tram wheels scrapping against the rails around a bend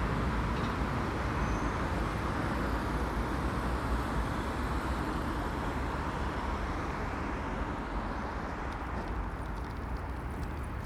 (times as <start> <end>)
8.6 10.8